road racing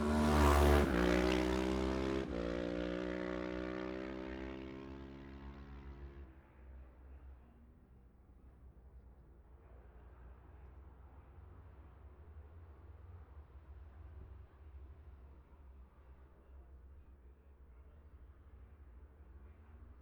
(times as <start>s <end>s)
0.0s 6.3s